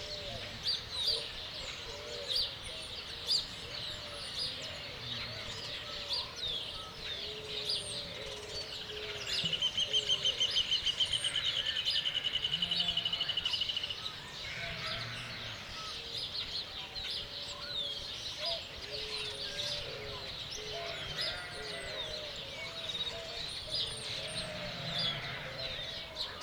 birds 0.0 - 26.4
wind 0.0 - 26.4
lambs 20.9 - 22.0
lambs 24.0 - 25.9

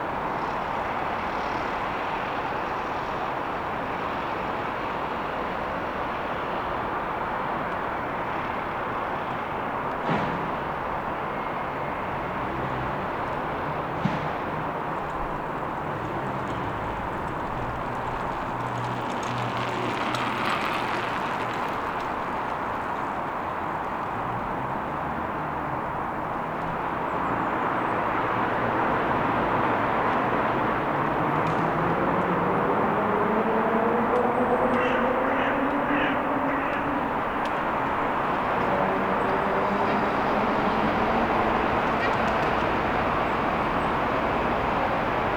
wind 0.0 - 45.3
birds passing by 31.3 - 45.3

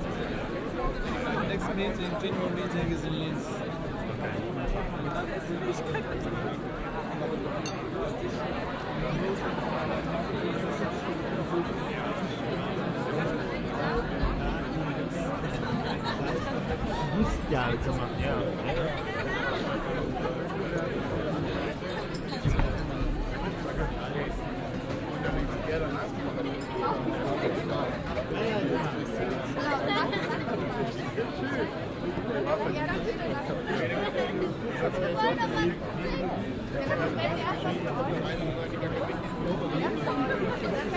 vernissagepublikum am buffet 0.0 - 40.9

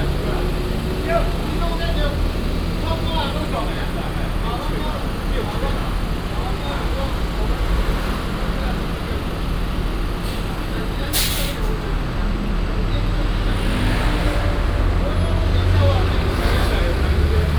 Traffic 0.0 - 17.5

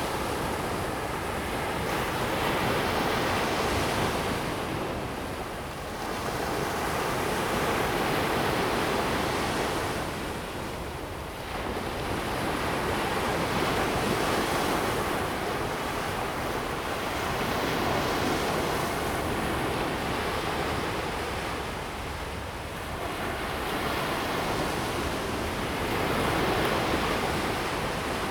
waves 0.0 - 28.3

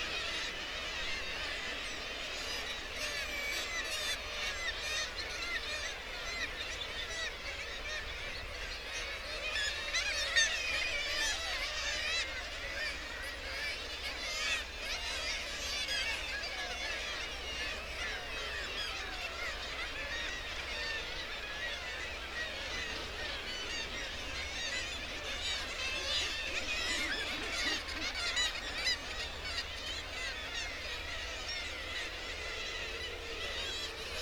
kittiwake calls and flight calls 0.0 - 34.2

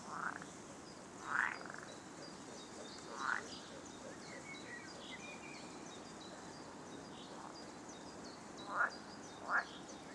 frogs 0.0 - 5.2
wind 0.0 - 10.1
frogs 5.9 - 10.1

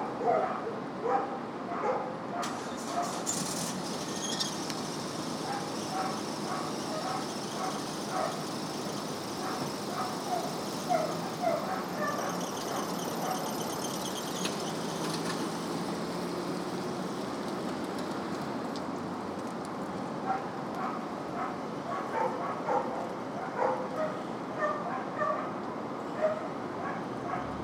dogs next door 5.4 - 14.7
dogs next door 20.2 - 27.6

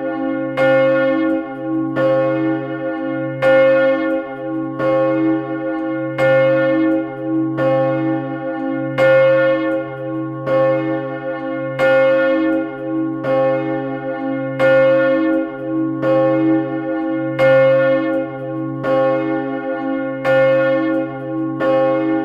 Solo of the Enghien big bell 0.0 - 22.2

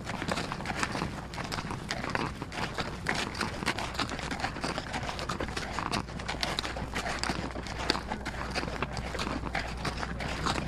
Mule Hoofs 0.0 - 10.6

